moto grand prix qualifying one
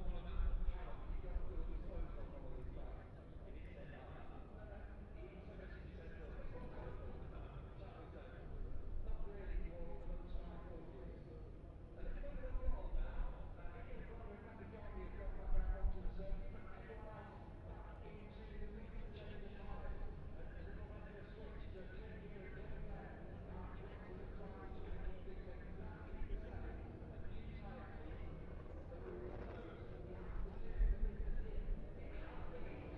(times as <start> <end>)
19.3 32.9